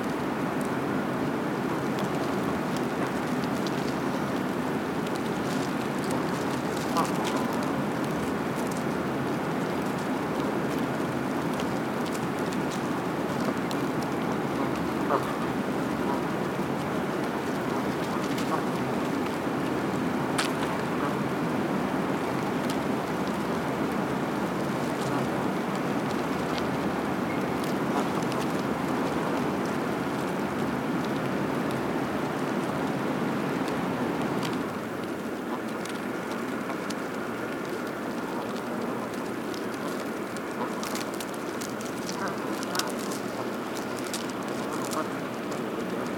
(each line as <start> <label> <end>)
0.0 Constant HVAC drone 46.1
0.0 Geese walking on ice whilst pecking the ground 46.1
1.9 wing flapping 19.6
15.0 occasional goose honks 15.4
34.4 wing flapping 46.1